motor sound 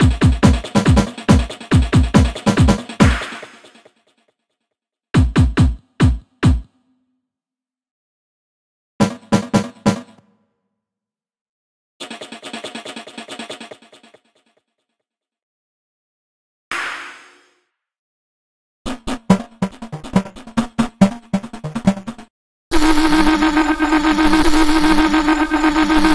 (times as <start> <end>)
22.7 26.1